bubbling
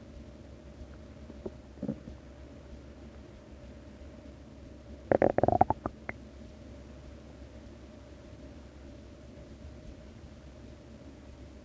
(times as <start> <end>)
5.1 6.2